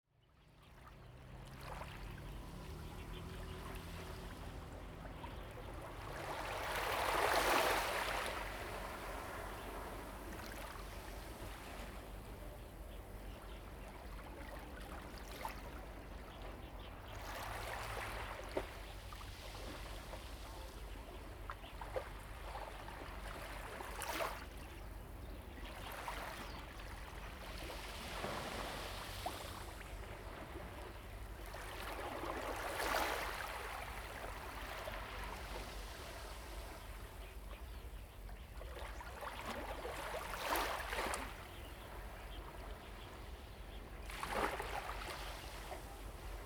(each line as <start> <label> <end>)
0.4 Waves and tides 46.4
36.7 Birds singing 46.4